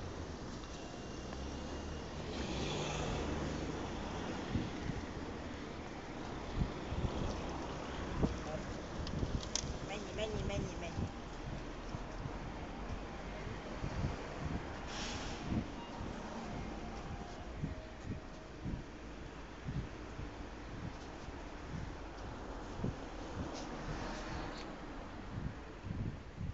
Traffic 0.0 - 26.5
woman says 9.9 - 11.2

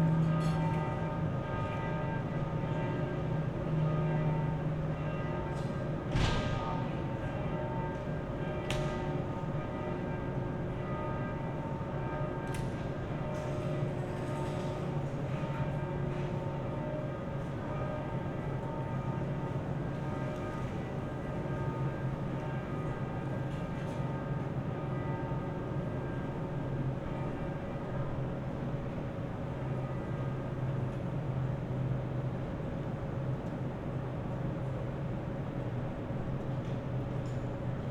churchbells 0.0 - 33.3
hum of many aircons 0.0 - 37.9

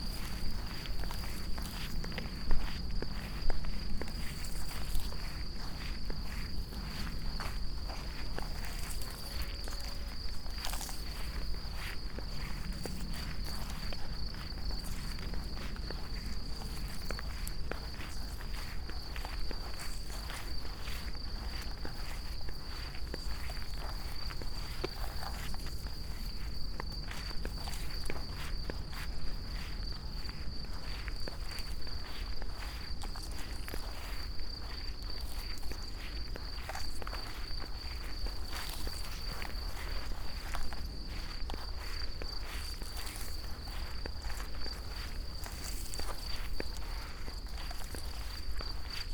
crickets allover 0.0 - 49.1

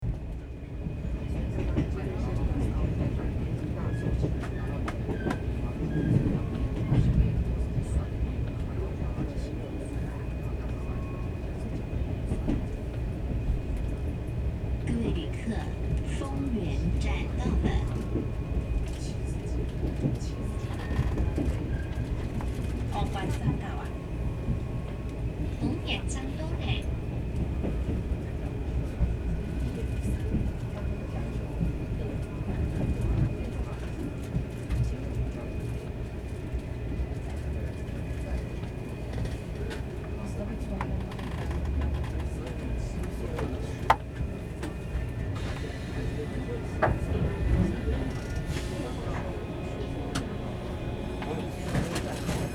On the train 0.0 - 52.5

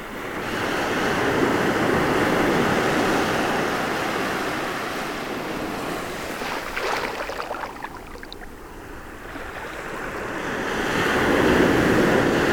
Big but quiet waves 3.9 - 12.5

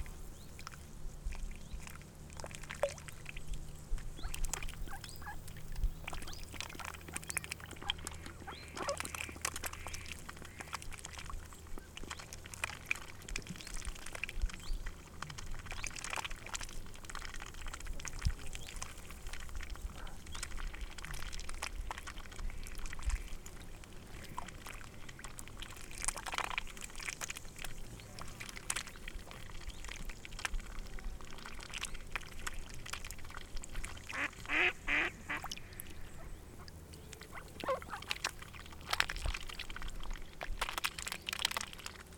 Ducks 4.2 - 23.4
Ducks 28.1 - 42.0

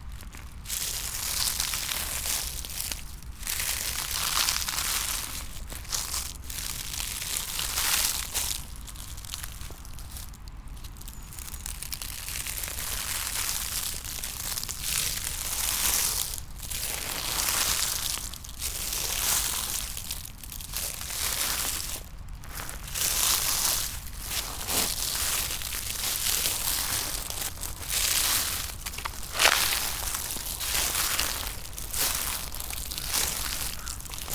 dry leaves 0.0 - 34.3
walking 20.7 - 34.3

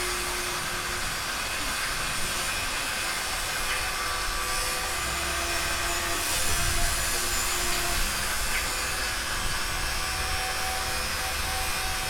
drilling 0.0 - 12.0
power cutting 0.0 - 12.0

